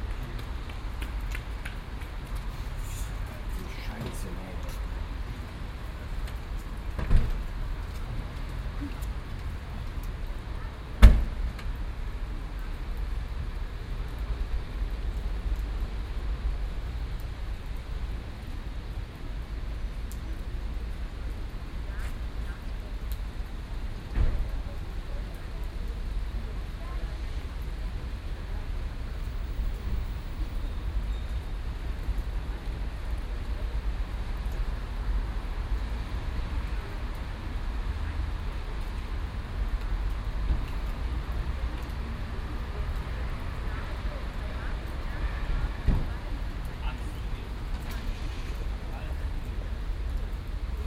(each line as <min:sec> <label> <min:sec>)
0:00.0 rain 0:50.8